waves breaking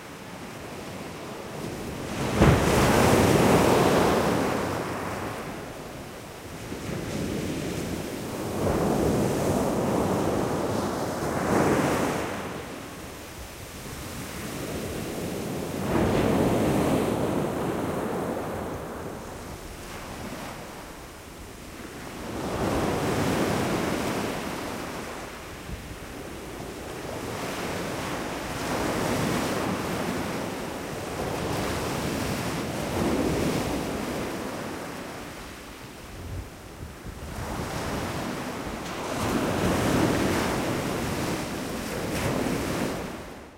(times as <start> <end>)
1.9 6.0